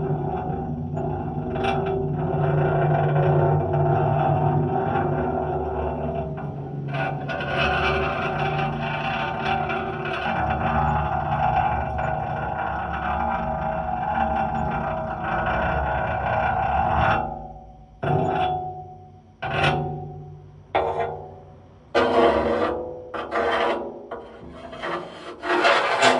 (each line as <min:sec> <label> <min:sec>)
0:00.0 Night Metal Drag 0:26.1